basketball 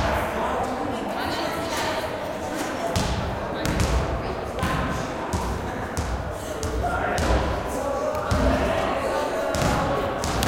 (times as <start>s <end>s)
2.9s 8.7s, 9.4s 10.4s